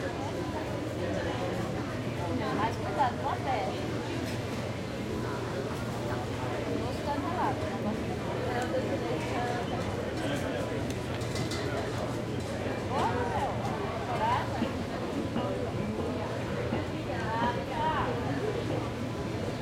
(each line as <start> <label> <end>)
0.0 hubbub of voices 19.6